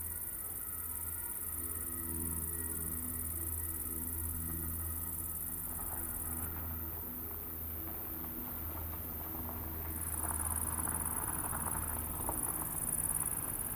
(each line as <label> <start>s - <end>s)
Vibrant insects chorus 8.7s - 13.7s